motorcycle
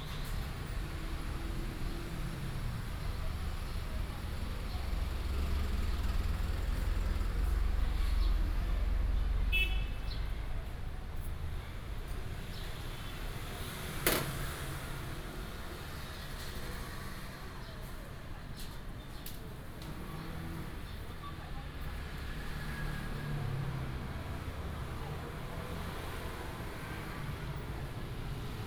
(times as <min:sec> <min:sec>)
0:00.8 0:09.8, 0:21.8 0:28.6